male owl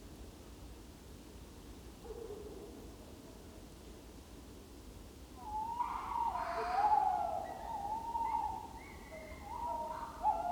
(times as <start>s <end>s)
5.4s 10.5s